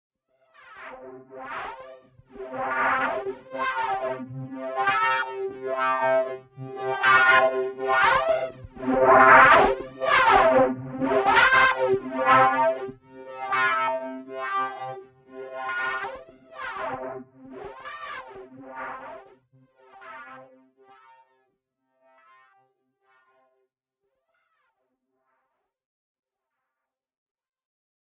Wobbling Computer Sounds 0:02.4 - 0:18.4

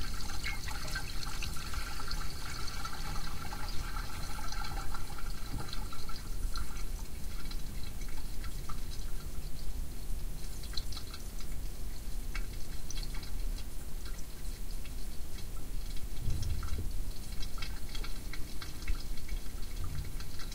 gurgle water in pipe 0:00.0 - 0:20.5

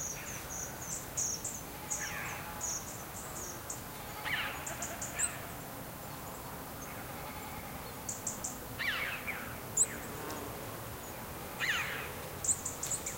bleating goats 0:04.0 - 0:05.3
bleating goats 0:06.9 - 0:07.8

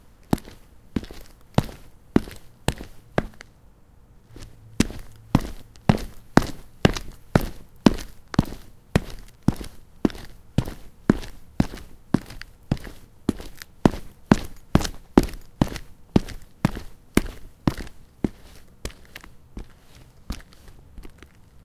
boot steps on concrete 0:00.0 - 0:03.5
boot steps on concrete 0:04.3 - 0:21.4

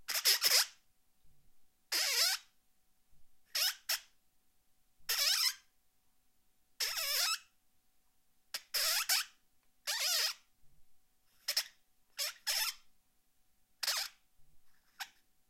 squeaks from my microphone protective tube 0:00.1 - 0:00.8
squeaks from my microphone protective tube 0:08.6 - 0:10.5
squeaks from my microphone protective tube 0:11.4 - 0:12.9
squeaks from my microphone protective tube 0:13.8 - 0:14.2
squeaks from my microphone protective tube 0:14.8 - 0:15.2

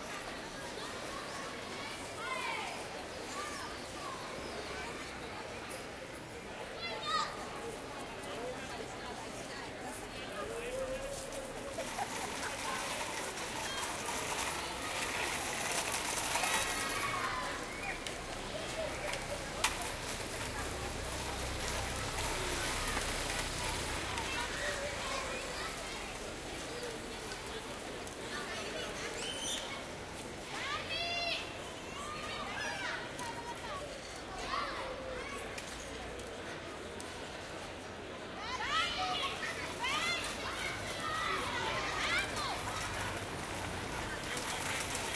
children playing with rolling planks 0:10.7 - 0:31.4
children playing with rolling planks 0:38.4 - 0:45.1

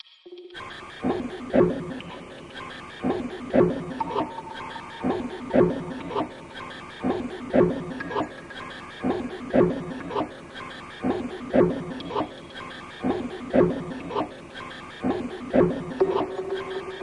beatbox 0:00.4 - 0:17.0

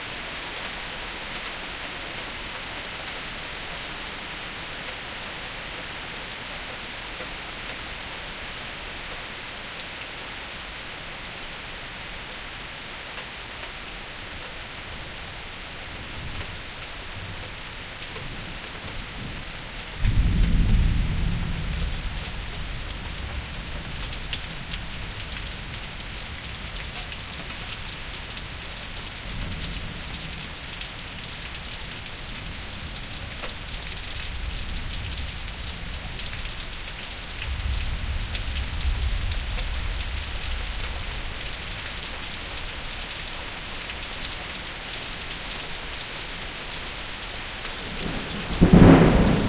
Rain 0:00.0 - 0:49.4
Thunder 0:20.0 - 0:22.2
Thunder 0:47.8 - 0:49.4

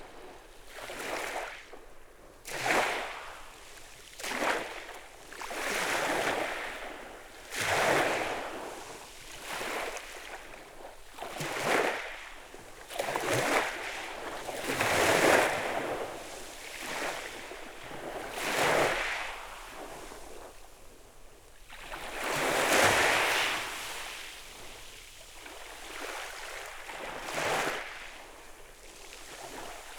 small waves breaking on a stony beach 0:00.0 - 0:29.9

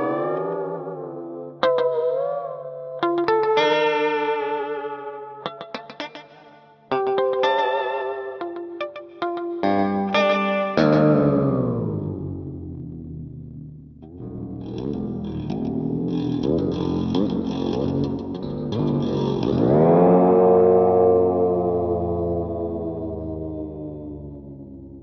guitar 0:00.0 - 0:25.0

